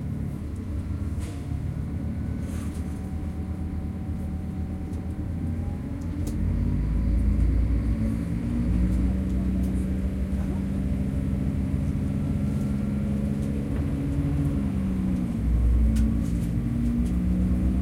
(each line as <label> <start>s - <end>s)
Train running 0.0s - 17.8s